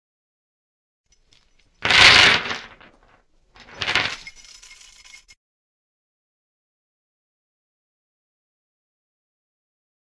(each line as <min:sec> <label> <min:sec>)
0:01.1 chains effect 0:05.4
0:01.8 heavy chain being dropped on a wooden floor 0:05.4